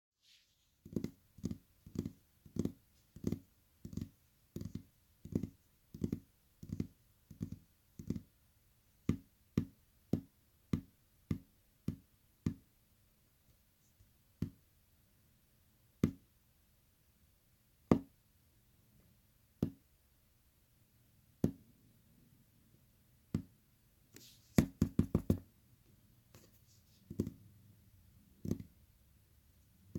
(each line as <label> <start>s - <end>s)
Fingertips tapping on table 0.8s - 8.3s
Fingertips tapping on table 24.5s - 25.4s
Fingertips tapping on table 26.3s - 27.4s
Fingertips tapping on table 28.4s - 28.8s